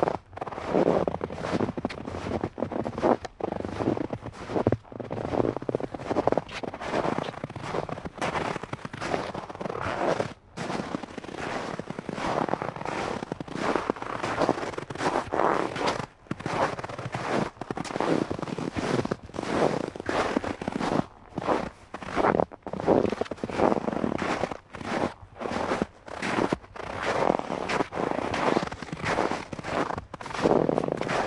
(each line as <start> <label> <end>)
0.0 walking on snow of various depths 31.2